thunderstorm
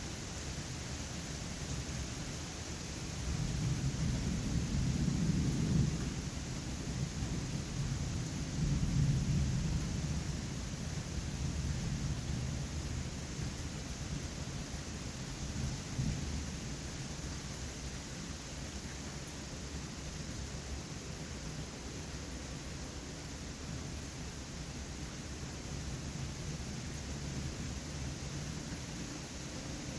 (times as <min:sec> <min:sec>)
0:03.2 0:14.1, 0:15.4 0:16.6